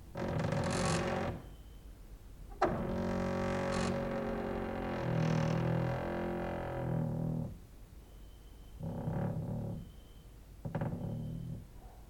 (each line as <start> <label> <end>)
0.1 creaking with wooden doors 1.6
2.6 creaking with wooden doors 7.6
8.0 cricket outside 9.0
8.7 creaking with wooden doors 11.7
9.7 cricket outside 11.6